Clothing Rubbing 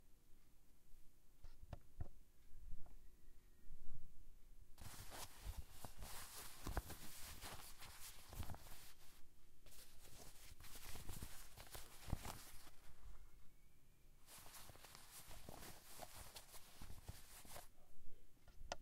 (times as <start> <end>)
4.8 13.3, 14.2 17.7